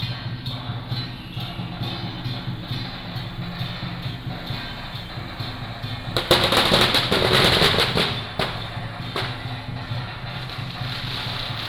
True and false firecrackers sound 0.5 - 11.6

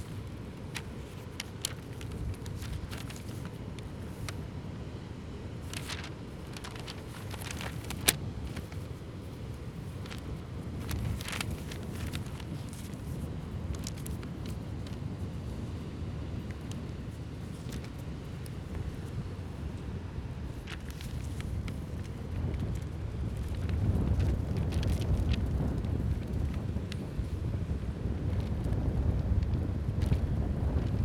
magazine fluttering in the wind 0.0 - 31.0

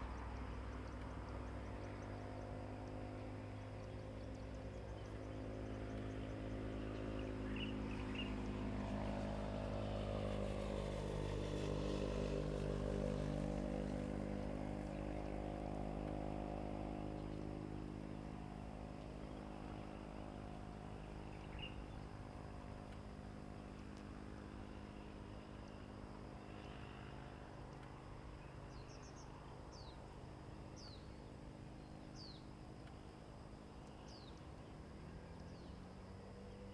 Birds singing 0.2 - 9.1
Birds singing 21.0 - 22.3
Birds singing 28.4 - 30.0
Birds singing 30.6 - 32.6
Birds singing 33.8 - 36.7

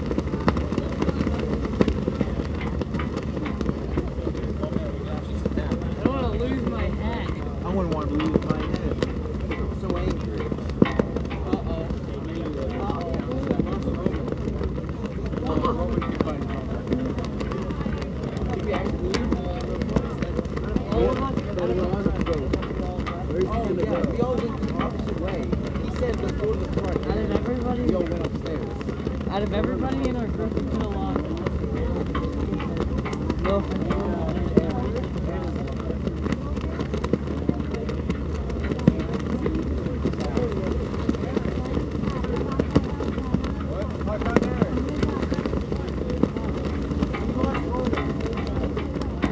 american flag flapping in the wind 0.0 - 49.3

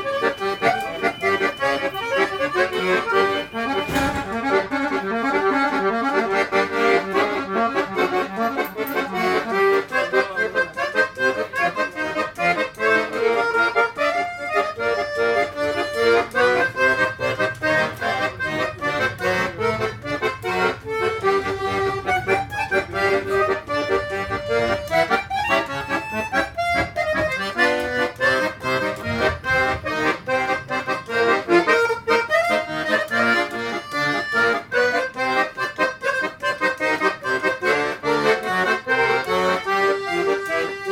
Accordionist in the tram 97 0.0 - 40.9

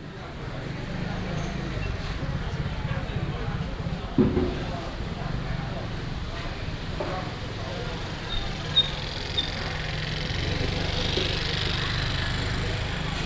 traffic sound 0.1 - 13.2

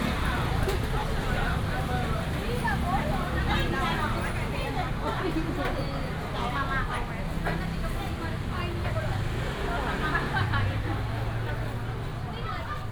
traffic sound 0.0 - 12.9
Walking in the traditional market 0.0 - 12.9

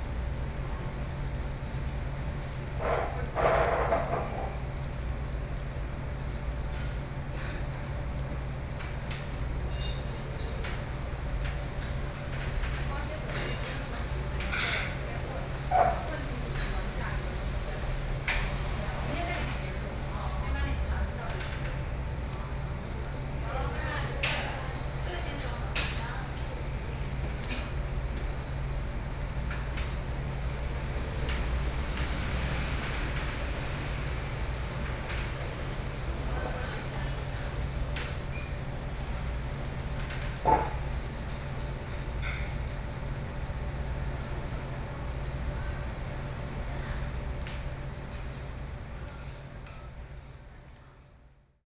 Traffic Noise 21.8 - 36.4

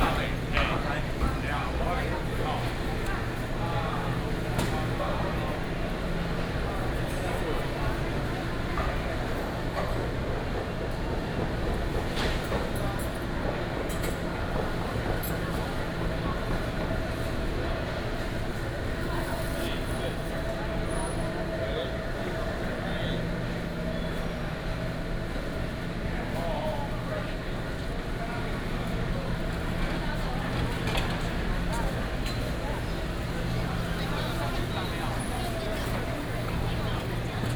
Walking through the market 0.0 - 37.5

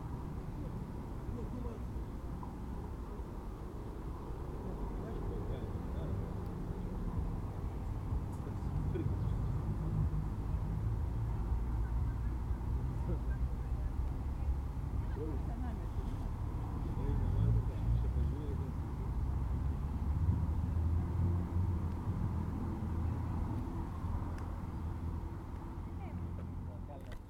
Cars and motorbikes passing by 0.0 - 27.2
People talking in the background 0.0 - 27.2

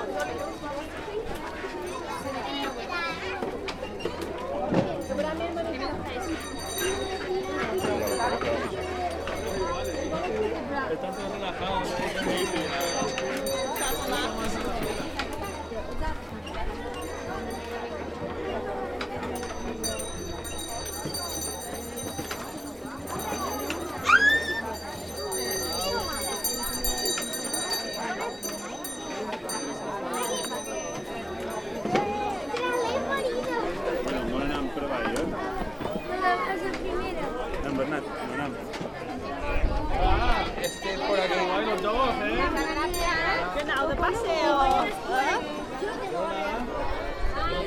old small children's carousel pushed by hand with a bell 0.0 - 47.6
visitors from many countries 0.0 - 47.6
old wooden children's games 0.0 - 37.8

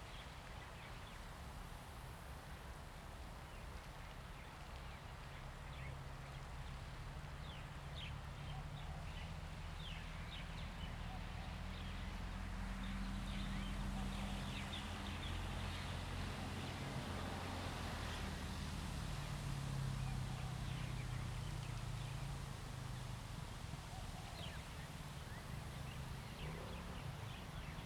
Wind 0.0 - 27.8

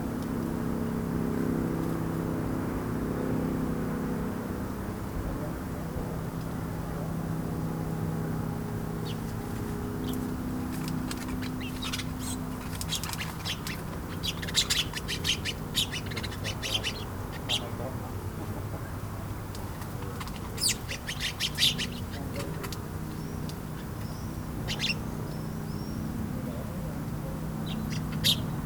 Distant traffic noise 0.0 - 28.6
Passing plane 0.0 - 28.6
Sparrows in their bush 0.0 - 28.6
swift calls 10.0 - 18.0
swift calls 20.1 - 22.6
swift calls 23.3 - 25.9
swift calls 27.6 - 28.6

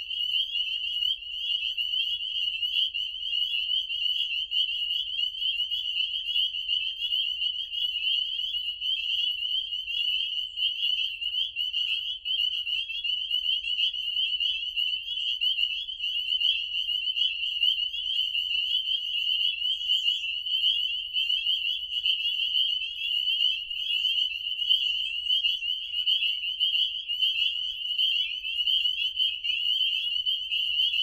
chorus of frogs 0.0 - 31.0

